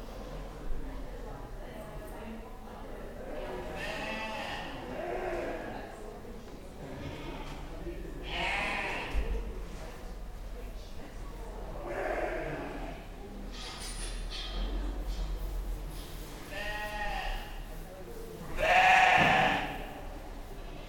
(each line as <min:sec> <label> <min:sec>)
0:00.0 chatter of stall holders 0:20.8
0:15.2 somebody sweeping 0:18.6